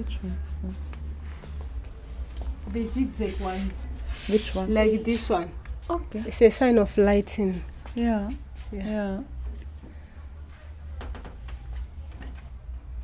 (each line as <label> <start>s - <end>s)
Barbara and Viola talk 2.4s - 9.4s